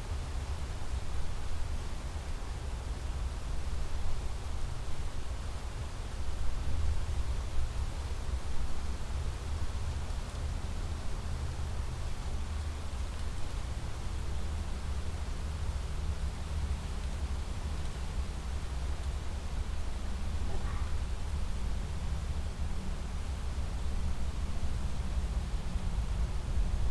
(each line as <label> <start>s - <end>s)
Distant motor boats and jetskis 17.3s - 26.7s